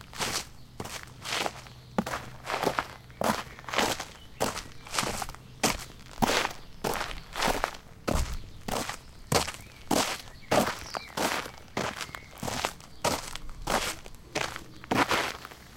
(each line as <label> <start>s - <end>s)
steps on sandy ground 0.0s - 15.7s